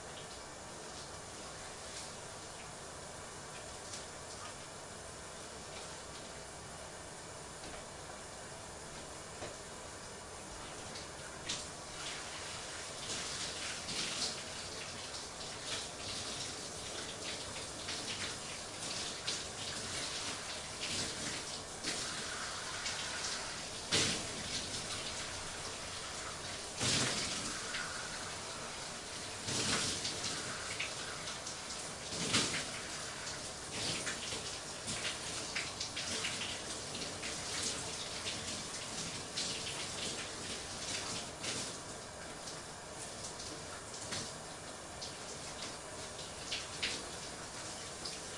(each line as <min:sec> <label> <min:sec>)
0:00.1 taking a shower from start to finish 0:02.8
0:10.6 taking a shower from start to finish 0:48.3